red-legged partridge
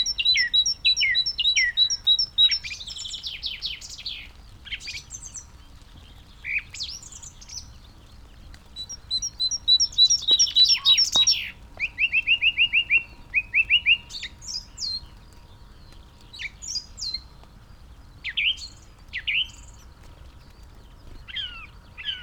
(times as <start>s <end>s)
0.0s 17.3s